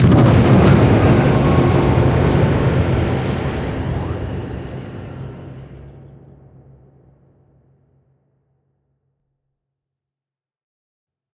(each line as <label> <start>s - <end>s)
machinery 0.0s - 6.2s
impact 0.0s - 8.0s